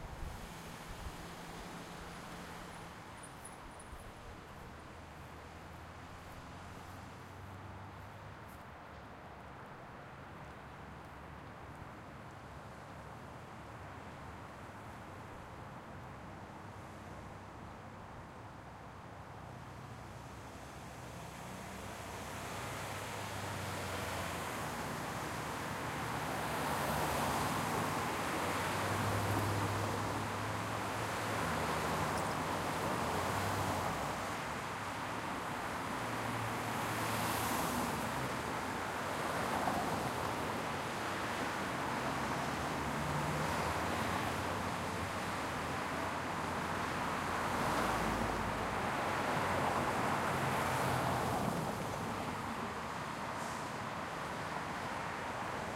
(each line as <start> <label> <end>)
0.0 traffic 55.7